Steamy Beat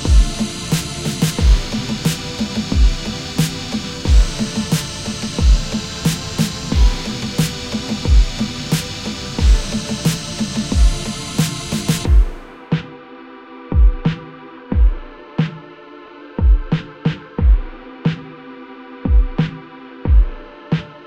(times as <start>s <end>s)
0.0s 12.9s